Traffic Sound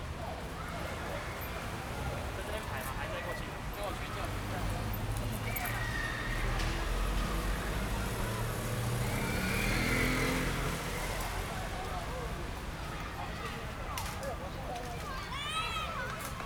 1.5s 13.2s

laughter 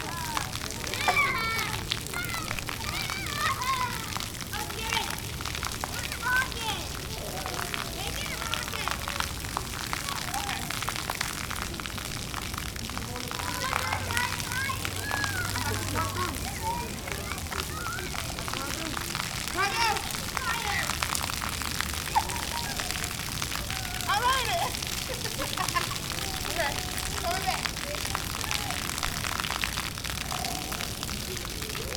24.6s 26.2s

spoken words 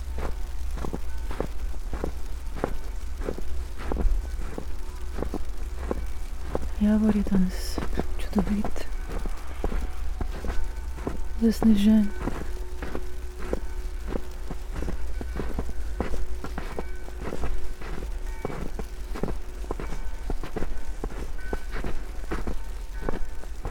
6.8s 8.9s, 11.4s 12.2s

